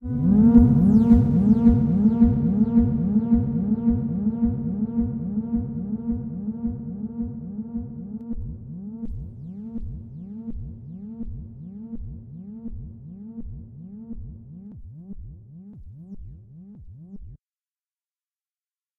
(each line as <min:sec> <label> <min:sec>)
0:00.0 filtered lo-frequency synth shot 0:11.2